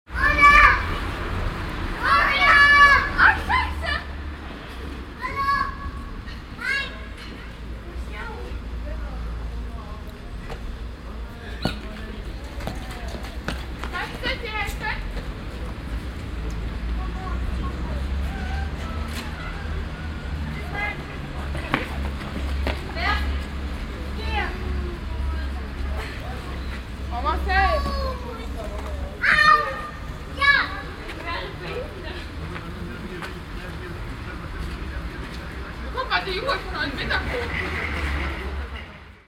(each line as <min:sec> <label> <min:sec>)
0:00.1 children shouting and playing 0:08.8
0:16.8 children shouting and playing 0:32.2